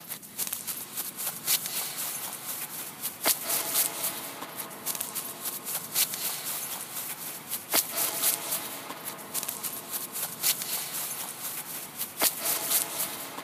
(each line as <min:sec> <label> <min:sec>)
0:00.0 Walking through grass 0:13.4